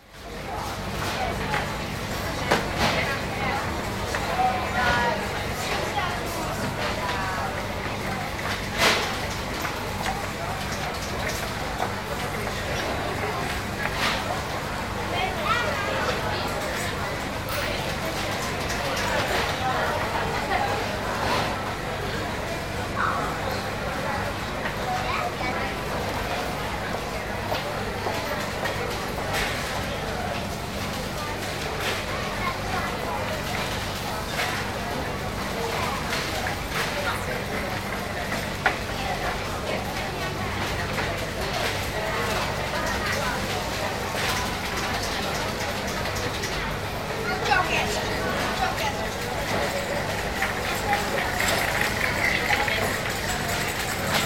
43.8s trolleys passing bye 54.2s

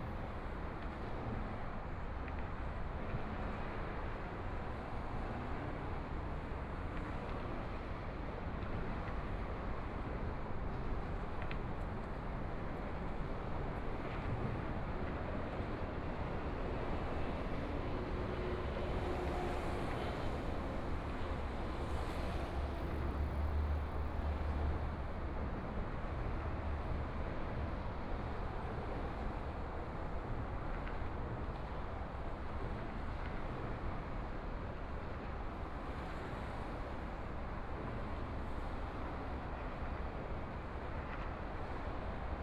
13.4s MRT train sounds 30.6s
16.8s Traffic Sound 25.3s

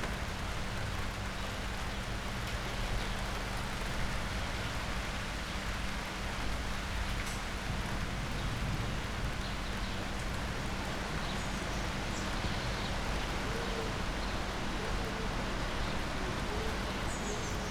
0.0s it starts to rain 17.7s

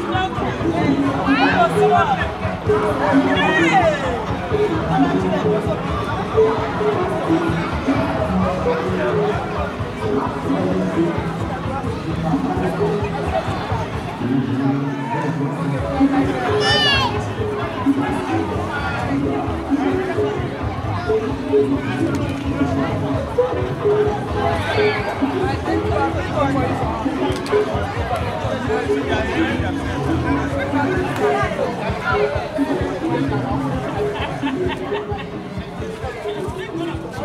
0.0s Festival sounds 37.2s

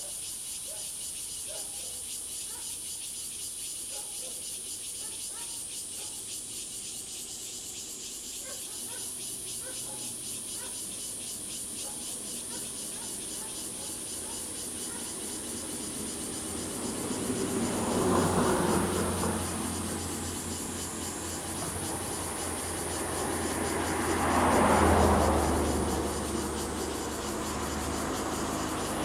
0.0s Cicadas 29.0s
0.7s Dogs barking 2.8s
3.9s Dogs barking 4.4s
4.8s Traffic Sound 29.0s
5.0s Dogs barking 6.2s
8.4s Dogs barking 10.9s
11.8s Dogs barking 15.8s

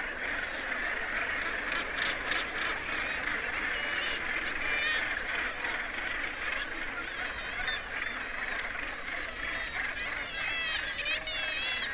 0.0s gannet calls and flight calls 11.9s
9.2s kittiwake calls 11.9s

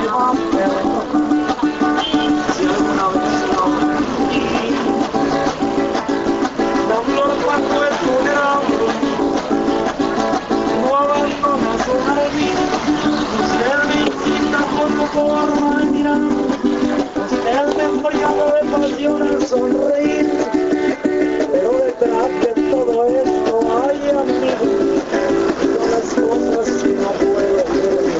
0.0s playing a cuatro 28.1s
0.0s singer llanero 28.1s

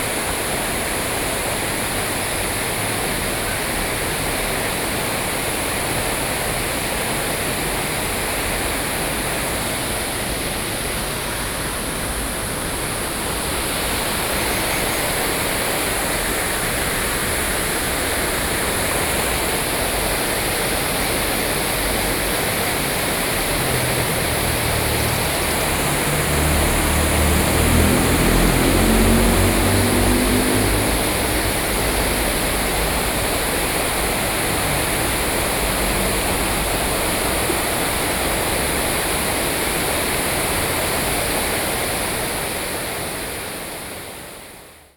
0.0s Stream 44.9s

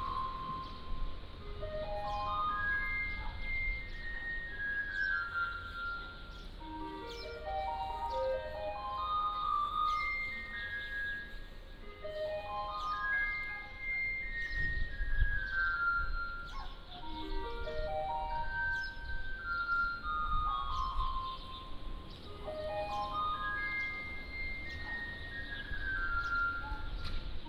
0.0s Traffic Sound 14.3s
21.2s Traffic Sound 27.4s

